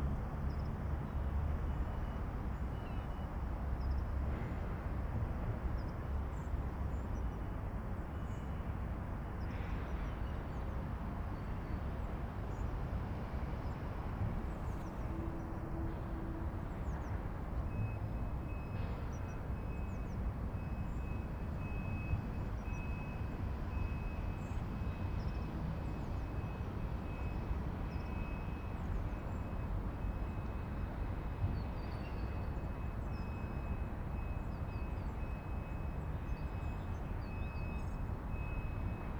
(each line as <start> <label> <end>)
0.0 Distant trucks 39.1
0.0 trains 39.1